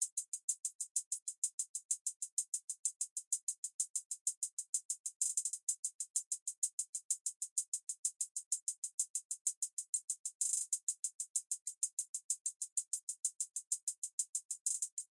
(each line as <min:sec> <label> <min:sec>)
0:00.0 Hi-Hat 0:15.1